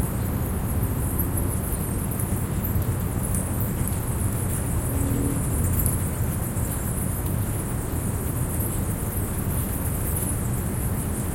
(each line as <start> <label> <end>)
0.0 city ambience 11.3